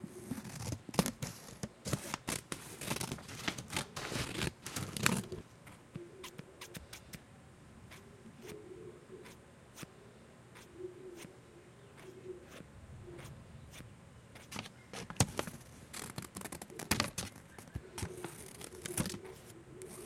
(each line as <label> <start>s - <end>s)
Scissors cutting paper 14.4s - 20.0s